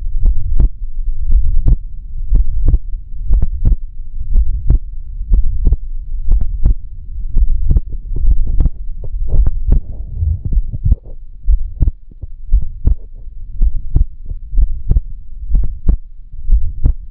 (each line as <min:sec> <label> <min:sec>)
0:00.1 heartbeat 0:17.1